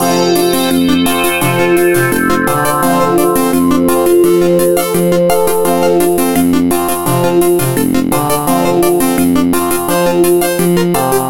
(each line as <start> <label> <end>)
0.0 music 11.2